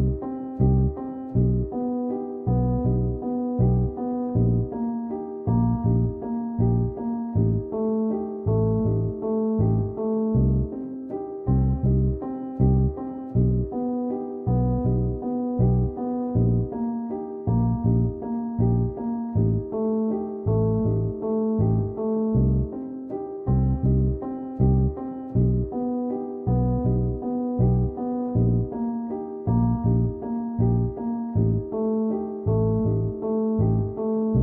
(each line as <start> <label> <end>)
0.0 bass 1.8
0.0 piano 34.4
2.4 bass 4.8
5.5 bass 10.8
11.5 bass 13.8
14.5 bass 16.8
17.5 bass 22.7
23.5 bass 25.8
26.5 bass 28.8
29.5 bass 34.4